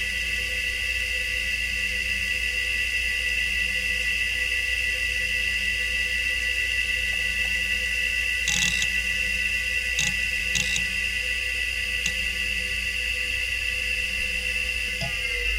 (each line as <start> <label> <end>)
8.5 hdd 9.1
10.0 hdd 11.1